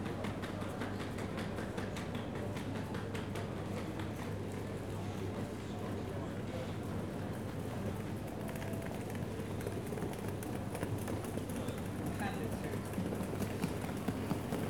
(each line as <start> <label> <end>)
11.4 staff and travellers talking briefly 14.3